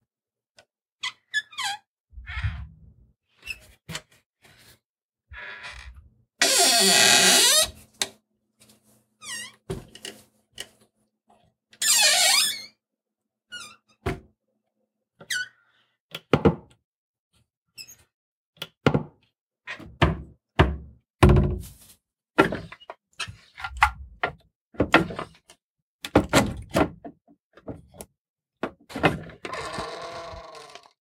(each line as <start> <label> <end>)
1.0 Wooden Doors - Assorted Squeaks and Creaks 2.7
5.4 Wooden Doors - Assorted Squeaks and Creaks 7.8
9.2 Wooden Doors - Assorted Squeaks and Creaks 9.7
11.8 Wooden Doors - Assorted Squeaks and Creaks 12.8
29.4 Wooden Doors - Assorted Squeaks and Creaks 30.9